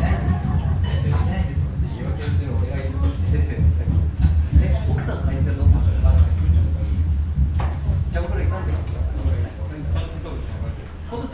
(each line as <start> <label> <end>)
0.0 Subway over the restaurant 11.3